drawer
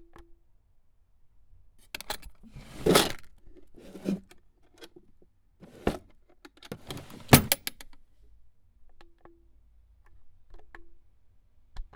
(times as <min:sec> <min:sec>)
0:02.0 0:04.3, 0:05.6 0:06.1, 0:06.7 0:07.8